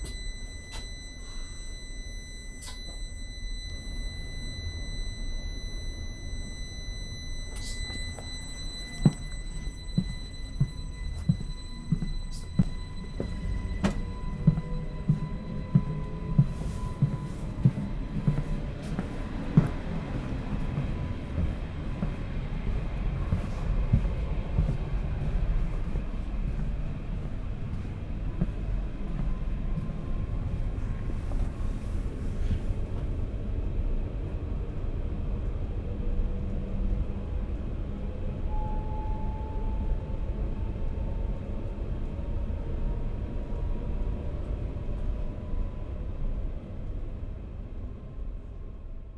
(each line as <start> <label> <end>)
0.0 alarm. It makes a strident painful noise 17.5
0.0 The train arrives 49.1